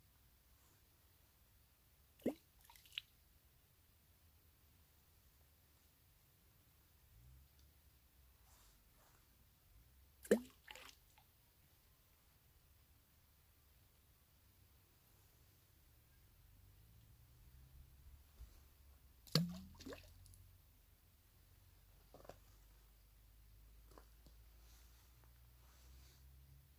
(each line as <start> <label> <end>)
10.2 pebbles in the lake 11.2
19.3 pebbles in the lake 20.4